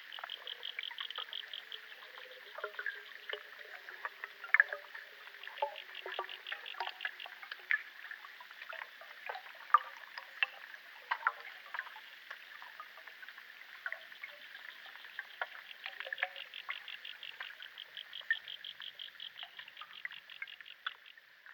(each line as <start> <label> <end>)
0.0 underwater sounds in the lake 21.5